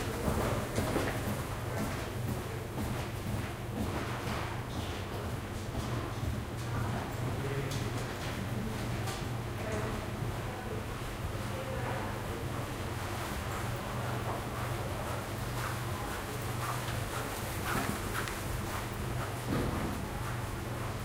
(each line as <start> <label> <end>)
0.0 footsteps 7.1
13.2 footsteps 21.0